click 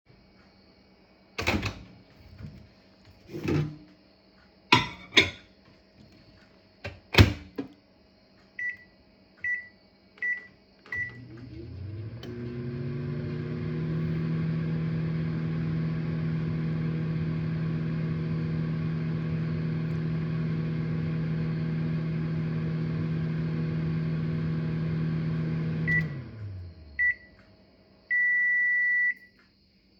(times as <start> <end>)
27.3 27.6, 29.1 29.6